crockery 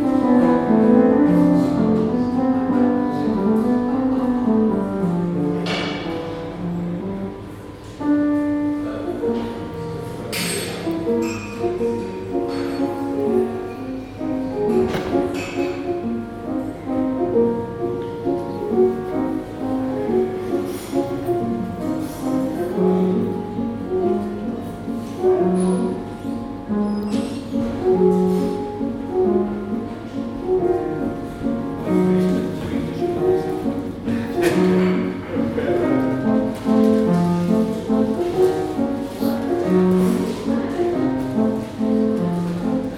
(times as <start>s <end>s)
10.2s 16.1s